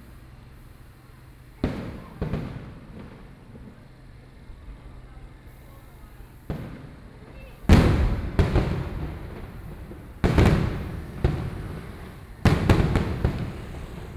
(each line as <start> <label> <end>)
0.0 Traffic Sound 14.1
1.0 Fireworks sound 14.1